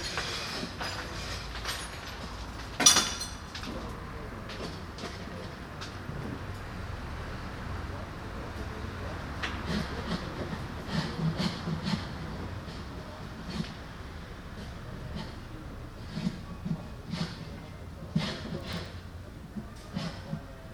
9.3s Restoration works 20.5s

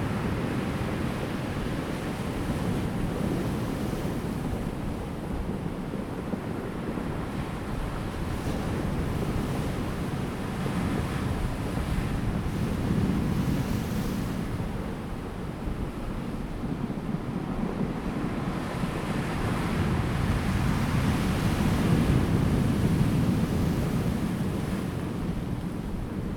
0.0s waves 26.3s
0.0s wind 26.3s

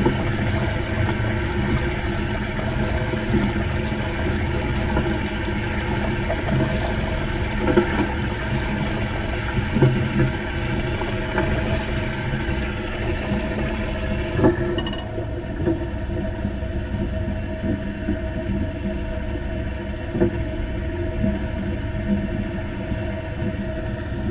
0.0s old school train toilet 15.7s

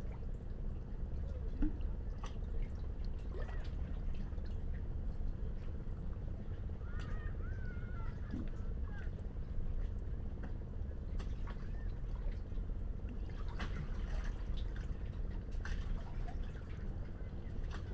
0.0s Sea Under Rocks 17.9s

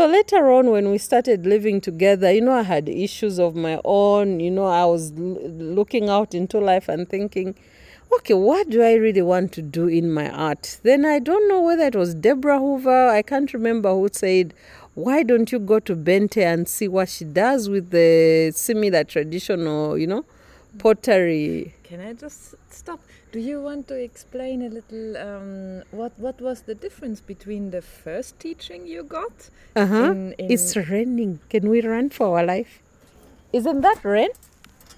0.0s conversation 34.5s

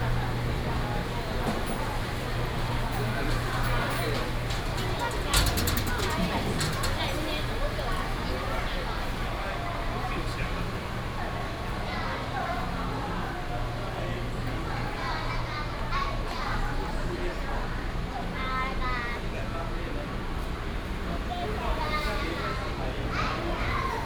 0.0s Traffic sound 8.9s
0.0s Walking in the dusk market 24.0s

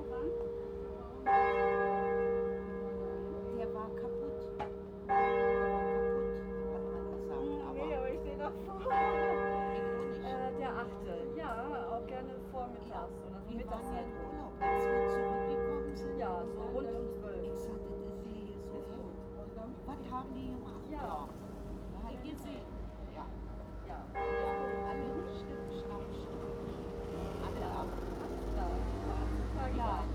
0.0s conversations 30.1s
23.2s noon bells 30.1s

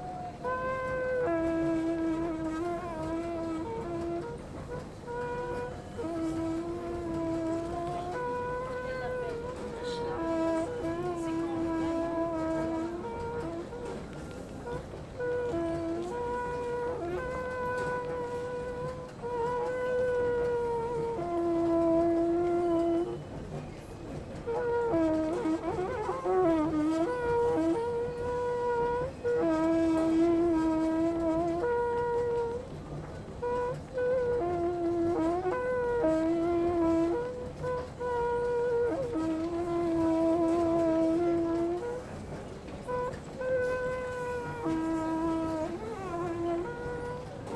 0.0s litanie d'un escalator 47.5s

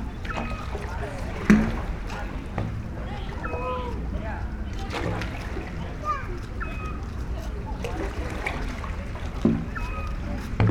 0.0s sea 10.7s
0.2s seagulls 1.8s
3.1s seagulls 4.0s
4.7s seagulls 7.2s
9.6s seagulls 10.5s

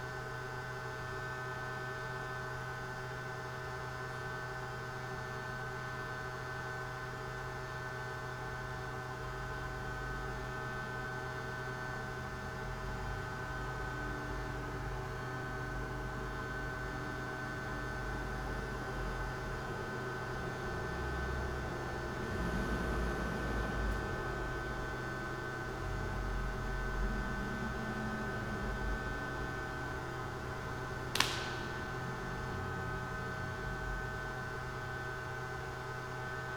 7.9s hum form ventilation ducts 36.5s
26.8s power box resonates the whole area 35.4s
31.0s crack of cartilages in my ankle 32.6s

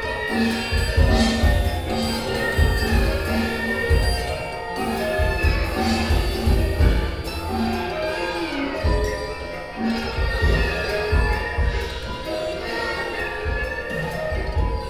0.0s concert of the zeitkratzer ensemble performing music 14.8s

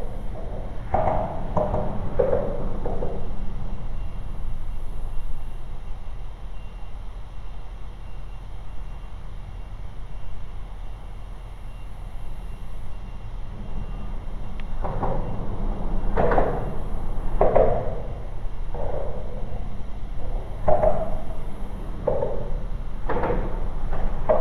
0.0s vehicles driving ove expansion joins on overpass above 8.0s
0.0s Distant train noises 24.4s
8.6s vehicles driving ove expansion joins on overpass above 24.4s

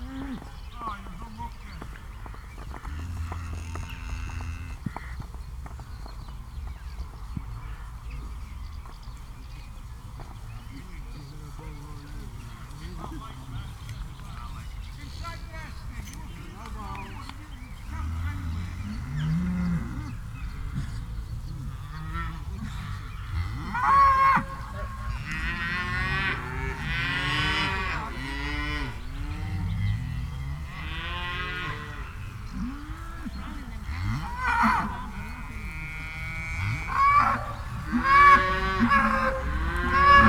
0.0s house martins 40.2s
0.0s traffic noise 40.2s
15.0s cow chorus 40.2s

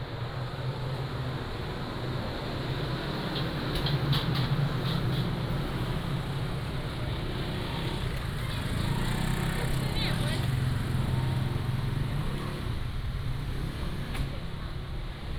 0.0s Traffic 15.3s
0.0s Walking in the Street 15.3s

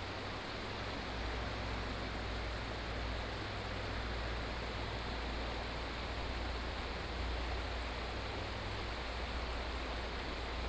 0.0s stream 10.6s

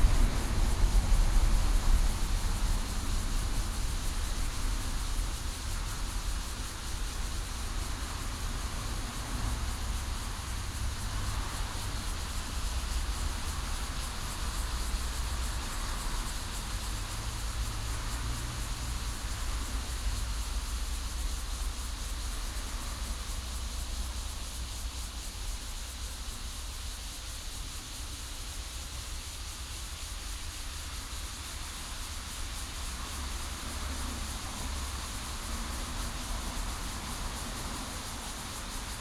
0.0s Cicadas sound 39.0s

